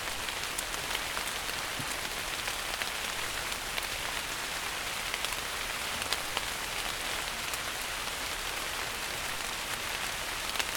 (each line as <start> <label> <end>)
0.0 Rain on leaves 10.7